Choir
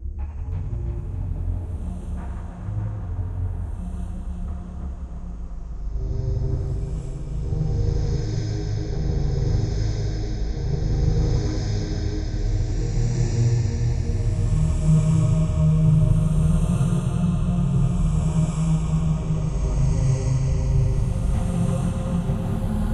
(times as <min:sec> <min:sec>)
0:06.0 0:22.9